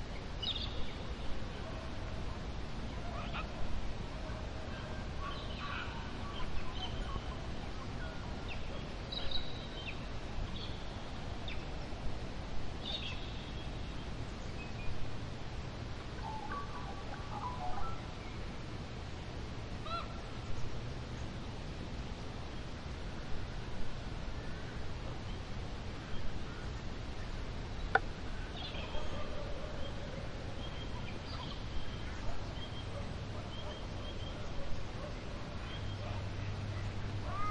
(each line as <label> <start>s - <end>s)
birds 0.0s - 12.0s
birds 15.9s - 21.6s
birds 24.3s - 37.5s